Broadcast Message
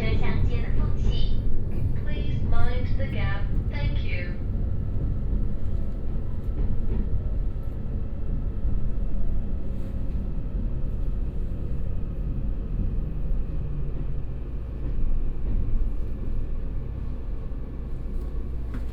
0.0s 1.4s, 2.0s 4.4s

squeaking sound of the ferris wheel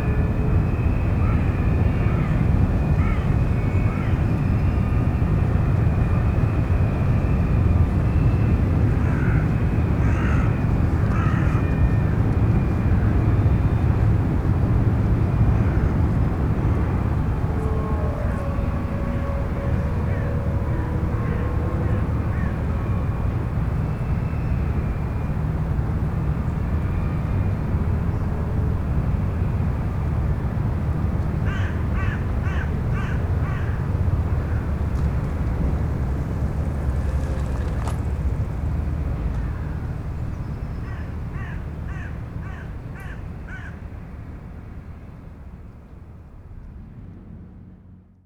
33.8s 40.5s

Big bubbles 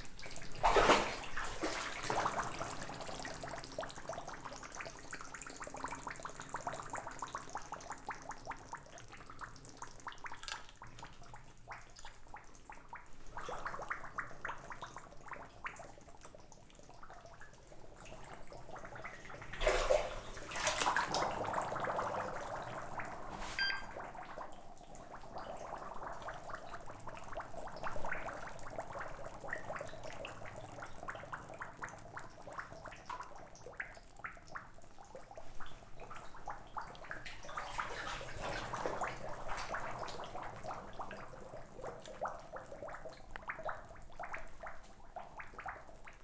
18.5s 32.0s

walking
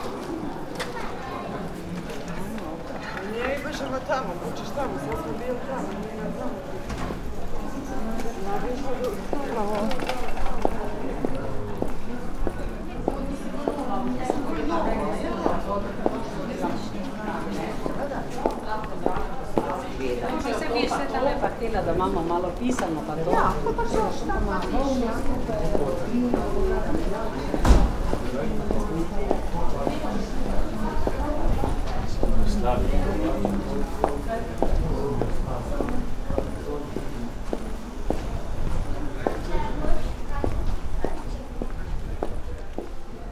21.6s 43.1s

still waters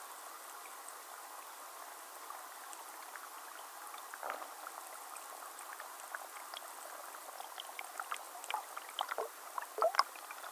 2.1s 10.5s

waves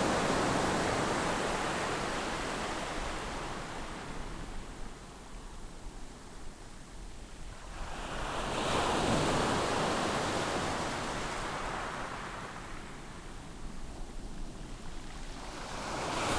15.4s 16.3s

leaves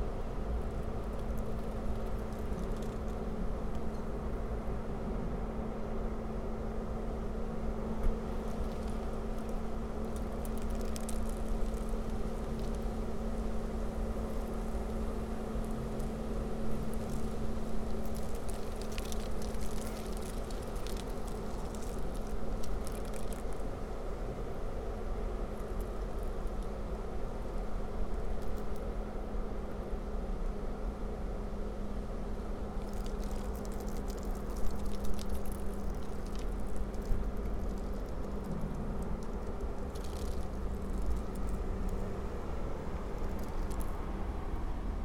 8.1s 28.9s, 32.2s 45.0s

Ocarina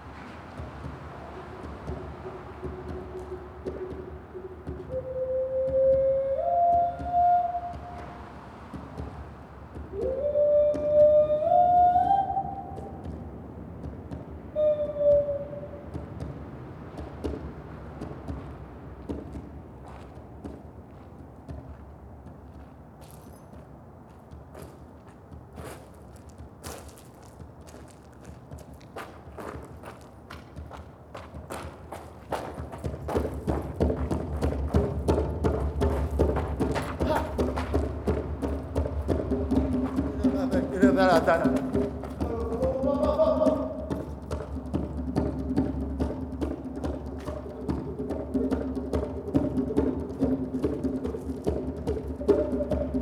1.2s 8.4s, 9.9s 13.2s, 14.5s 16.0s, 42.2s 44.0s, 52.1s 53.0s

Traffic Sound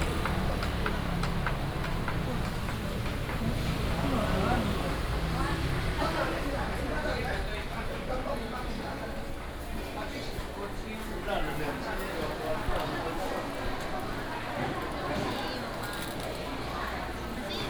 0.0s 8.1s

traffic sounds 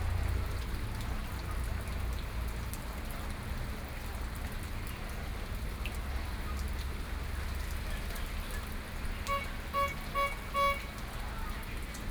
6.7s 12.1s

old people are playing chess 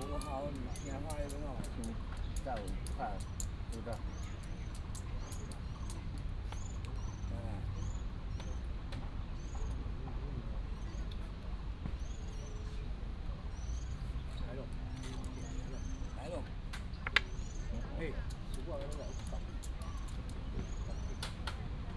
0.0s 6.0s

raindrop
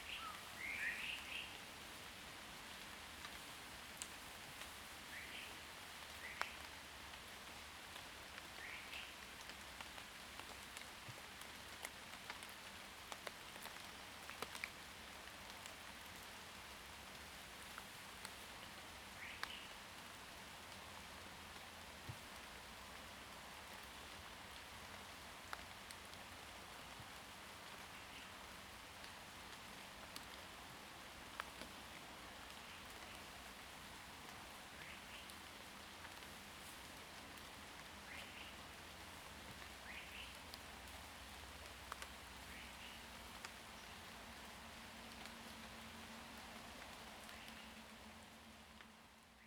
34.8s 48.9s

